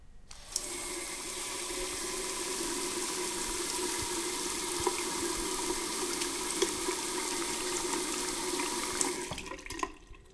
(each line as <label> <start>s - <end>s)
Water running out of the water tap 0.4s - 10.3s